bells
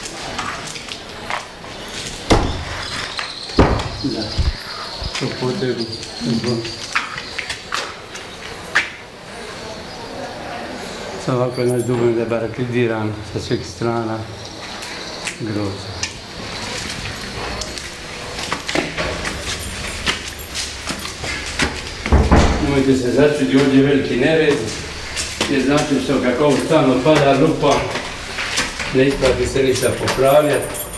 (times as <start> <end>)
10.7 15.2, 16.3 30.9